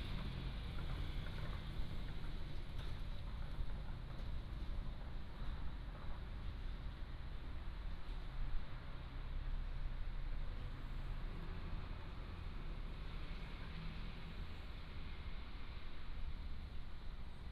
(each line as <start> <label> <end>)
0.0 Traffic sound 17.5